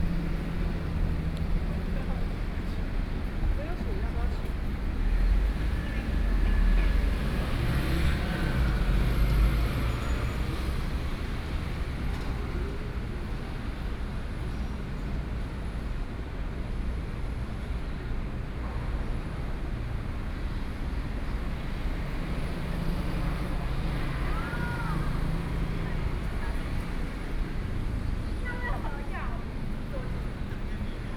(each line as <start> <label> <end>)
0.0 traffic on the street 31.1
22.3 crowd 31.1